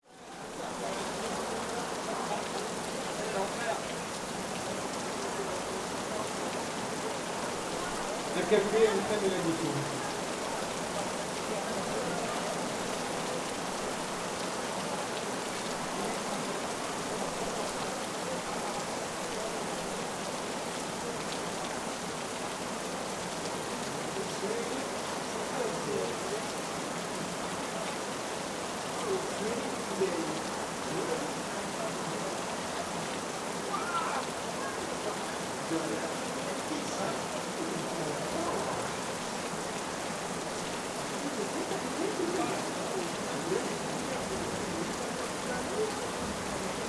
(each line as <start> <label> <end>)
0.0 rainy night 46.8